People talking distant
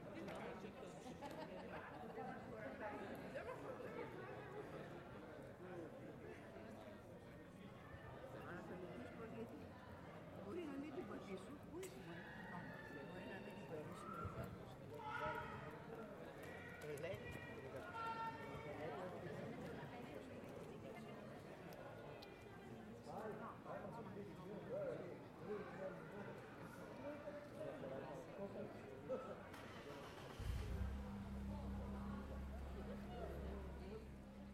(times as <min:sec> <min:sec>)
0:29.0 0:34.5